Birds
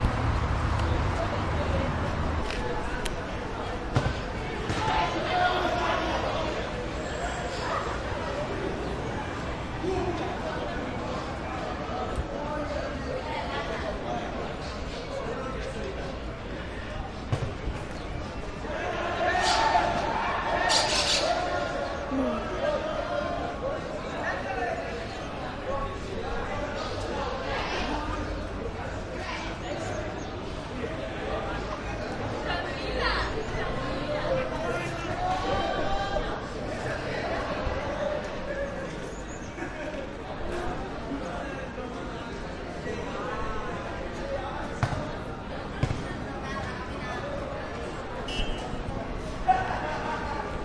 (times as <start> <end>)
20.6 22.1